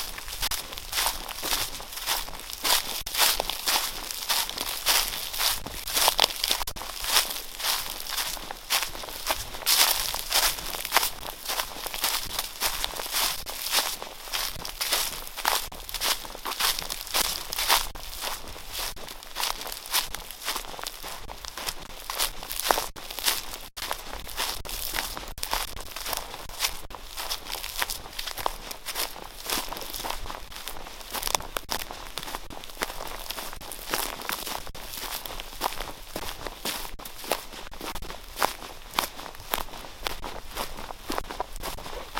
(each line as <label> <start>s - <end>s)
footsteps 0.0s - 42.1s